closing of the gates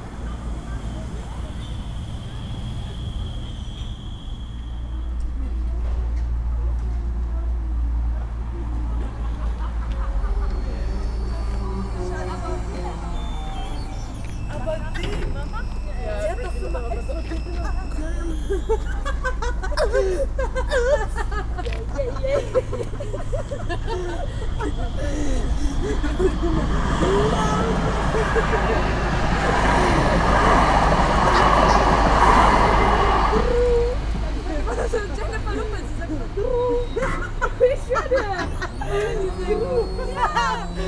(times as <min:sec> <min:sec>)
0:13.3 0:16.3